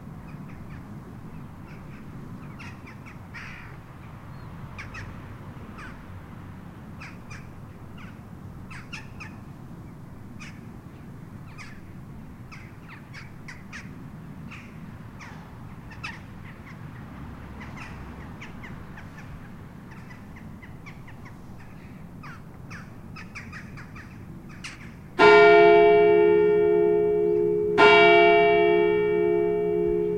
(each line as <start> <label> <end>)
25.2 church bell 30.1